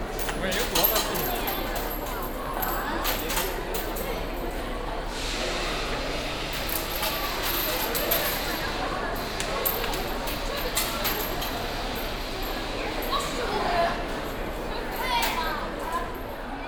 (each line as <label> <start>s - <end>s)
visitors throw money coins in a big wooden box 0.2s - 4.3s
visitors throw money coins in a big wooden box 6.5s - 12.6s